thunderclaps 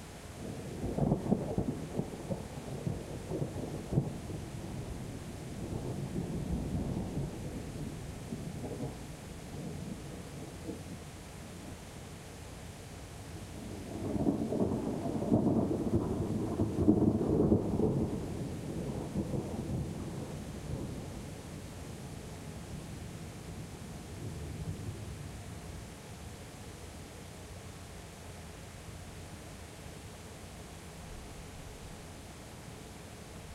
0:14.0 0:21.2

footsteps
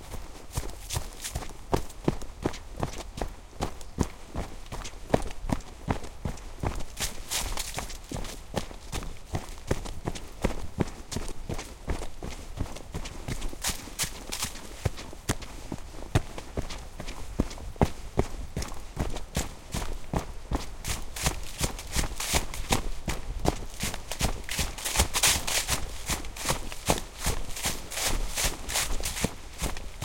0:00.0 0:03.1, 0:06.3 0:08.8, 0:12.3 0:18.0, 0:18.6 0:30.0

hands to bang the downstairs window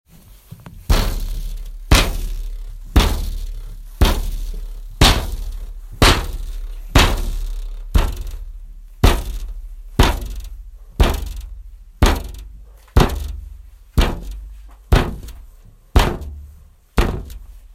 0:16.0 0:17.5

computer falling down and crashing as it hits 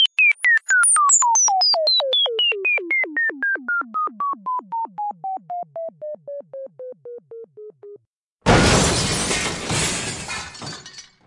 0:08.5 0:11.0

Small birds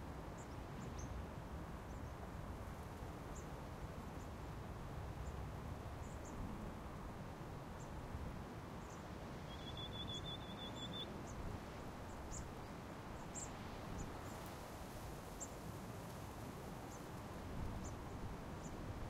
0:08.8 0:11.5, 0:12.1 0:14.6

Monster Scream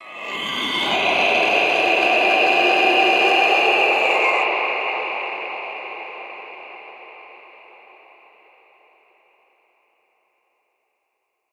0:00.0 0:04.5

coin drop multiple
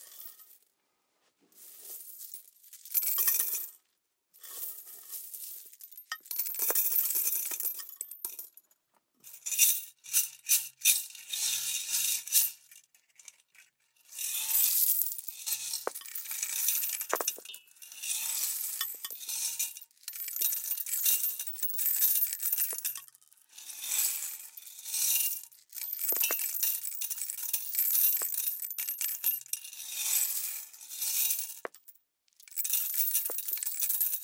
0:15.7 0:17.5, 0:26.0 0:26.6, 0:27.8 0:28.4, 0:32.6 0:34.2

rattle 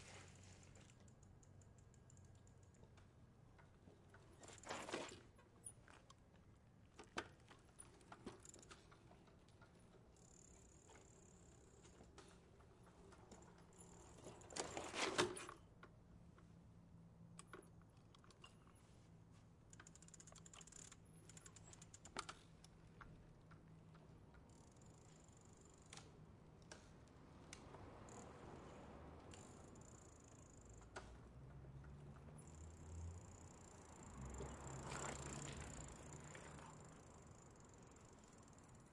0:19.7 0:22.4

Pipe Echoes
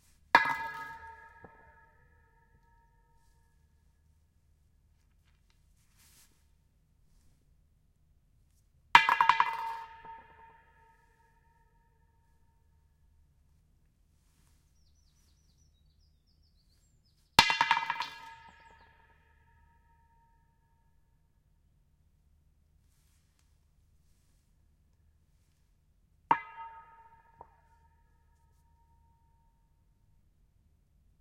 0:00.4 0:03.4, 0:26.3 0:28.4

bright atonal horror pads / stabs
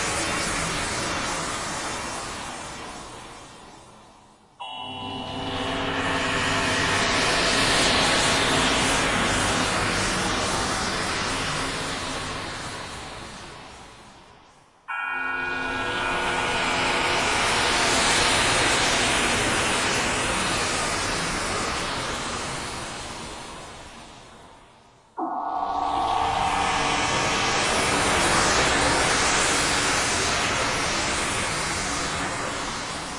0:04.6 0:10.4, 0:14.9 0:20.5, 0:25.2 0:31.1

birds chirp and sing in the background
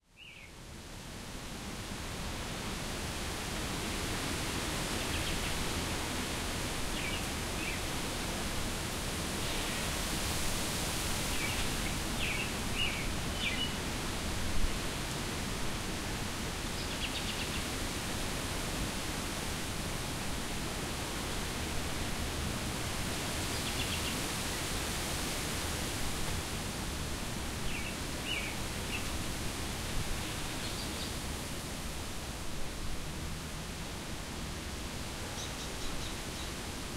0:00.2 0:00.6, 0:04.9 0:05.7, 0:06.9 0:07.9, 0:11.2 0:13.8, 0:16.8 0:17.8, 0:23.4 0:24.6, 0:27.6 0:29.2, 0:30.2 0:31.2, 0:35.2 0:36.6

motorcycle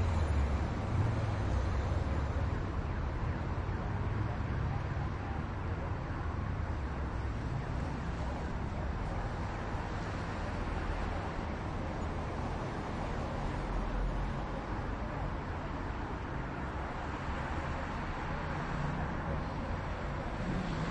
0:20.3 0:20.9

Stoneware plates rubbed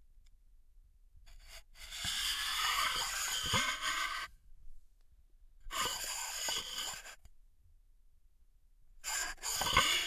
0:09.3 0:10.0

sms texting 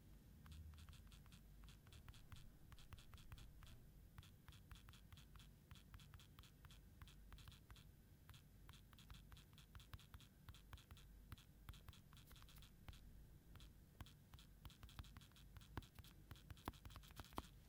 0:00.7 0:07.9, 0:08.7 0:13.0

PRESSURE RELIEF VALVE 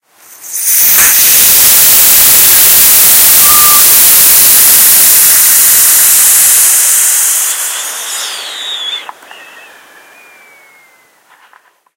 0:00.2 0:09.2

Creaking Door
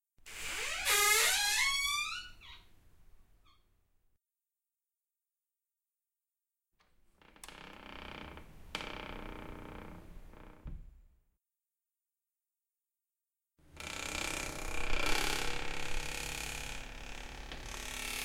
0:00.3 0:02.7, 0:07.2 0:11.0, 0:13.8 0:18.2

